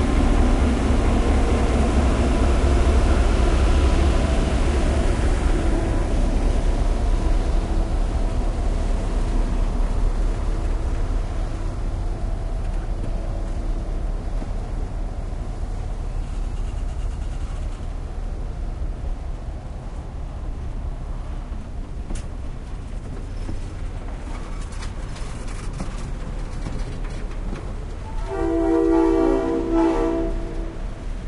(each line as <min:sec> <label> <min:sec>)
0:00.0 diesel locomotive 0:31.2
0:28.0 train whistle 0:30.9